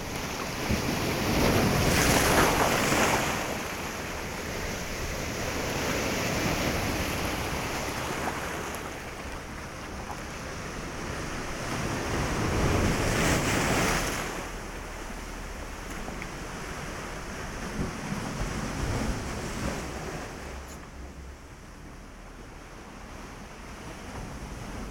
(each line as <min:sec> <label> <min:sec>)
0:00.0 waves hitting rocks 0:21.6